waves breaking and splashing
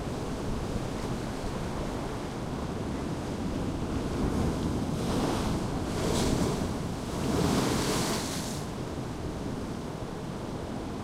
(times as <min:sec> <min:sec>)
0:04.9 0:08.7